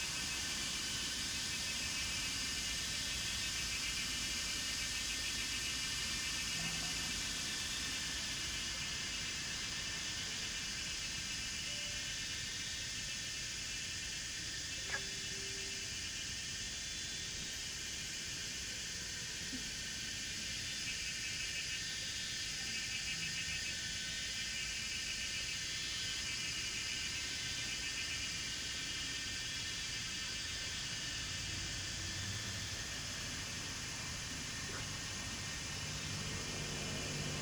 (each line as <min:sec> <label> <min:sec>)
0:00.0 Cicadas cry 0:37.4
0:19.8 Frogs chirping 0:37.4